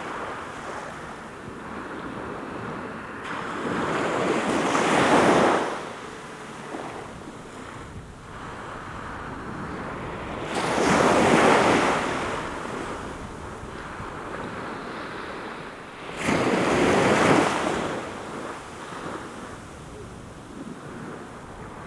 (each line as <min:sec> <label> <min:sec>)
0:00.0 waves washing upon the shore 0:21.8